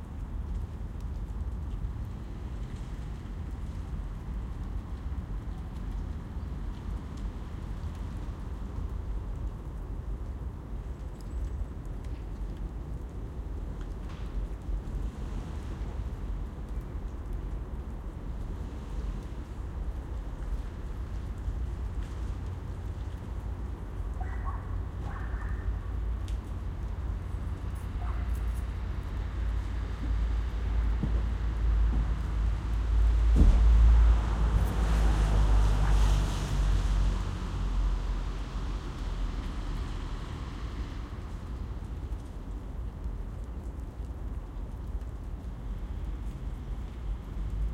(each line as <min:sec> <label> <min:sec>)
0:00.0 Light rain 0:47.7
0:00.0 raindrops from trees 0:47.7
0:27.8 cars passing by 0:41.2